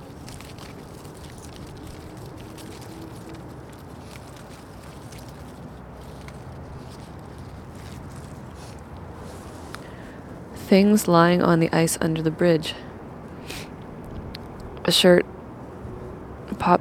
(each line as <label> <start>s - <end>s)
wind in plastic bags hanging out of a garbage can 0.0s - 10.6s